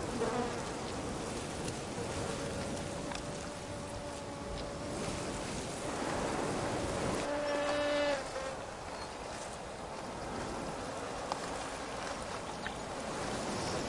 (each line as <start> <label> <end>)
0.0 bees 5.0
0.0 wind gusts on Cistus scrub 13.8
7.2 bees 9.1